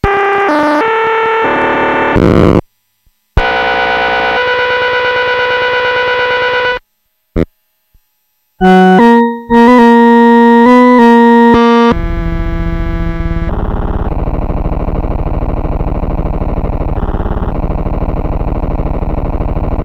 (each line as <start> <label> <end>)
0.0 Noise and Bent Sounds 19.8